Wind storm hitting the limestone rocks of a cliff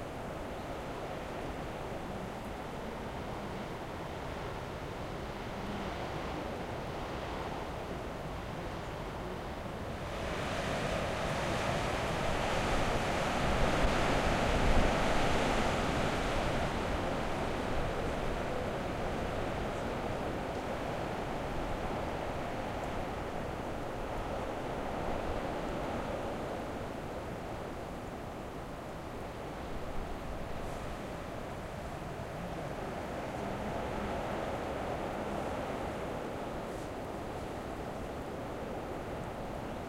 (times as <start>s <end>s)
9.9s 39.8s